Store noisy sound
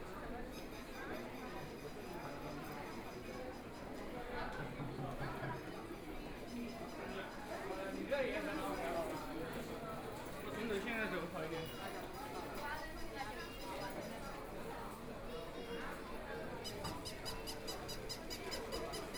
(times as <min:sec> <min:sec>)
0:06.6 0:19.1